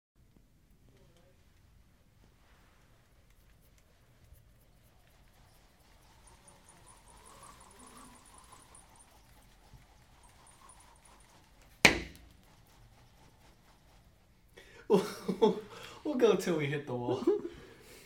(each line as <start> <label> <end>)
0.8 whipping a computer charger in circles 14.6
11.8 charger hitting a wall 12.4